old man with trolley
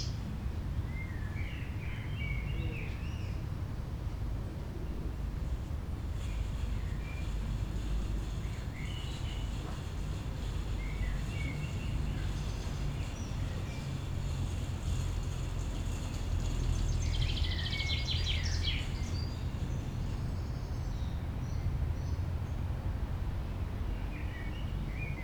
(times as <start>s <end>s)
4.9s 21.0s